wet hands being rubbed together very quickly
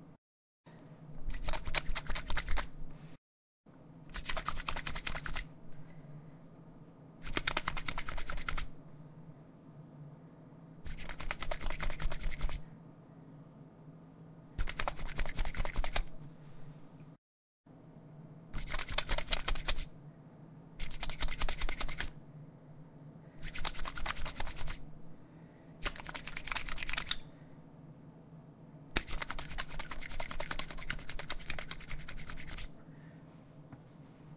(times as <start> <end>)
1.3 2.8, 4.1 5.5, 7.2 8.7, 10.9 12.6, 14.6 16.2, 20.8 22.1, 23.4 24.8, 29.0 32.7